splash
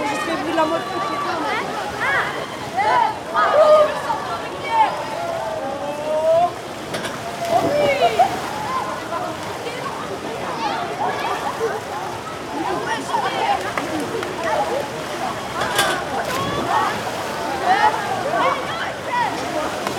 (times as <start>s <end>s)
13.5s 19.9s